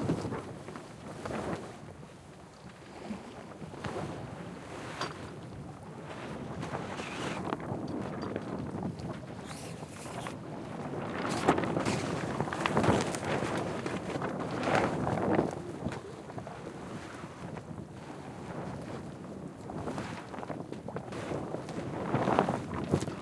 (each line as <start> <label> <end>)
0.0 sail was rarely full and instead flops lazily 23.2